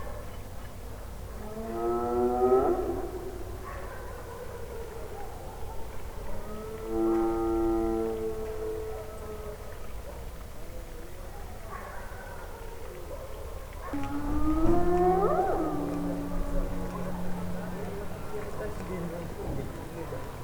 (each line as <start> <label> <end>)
0.0 hyenas are wandering in the city and shout 20.4
8.9 people 20.4